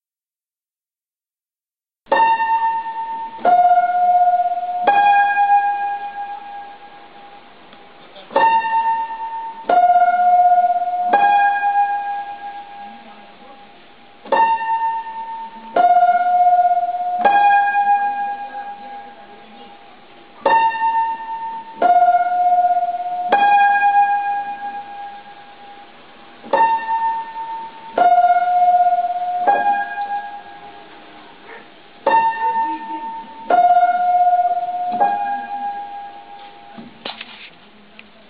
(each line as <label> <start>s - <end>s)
piano 2.1s - 38.2s
faint noises of people 12.2s - 23.4s
faint noises of people 29.0s - 38.2s
dog 31.4s - 31.7s